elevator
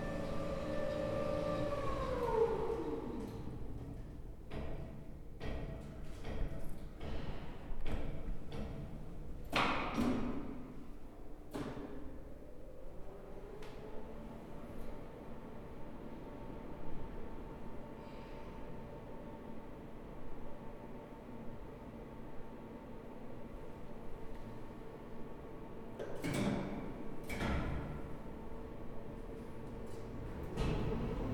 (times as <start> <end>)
0.0 4.0, 29.6 31.3